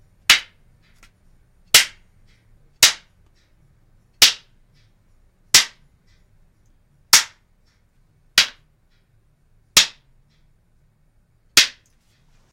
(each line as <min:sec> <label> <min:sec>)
0:00.3 Movie take board clapper 0:03.5
0:04.2 Movie take board clapper 0:05.0
0:08.4 Movie take board clapper 0:09.1
0:11.6 Movie take board clapper 0:11.9